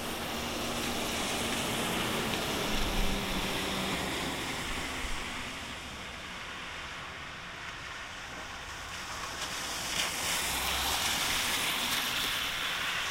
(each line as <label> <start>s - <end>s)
Traffic on wet roads 0.0s - 13.1s
light rain 0.0s - 13.1s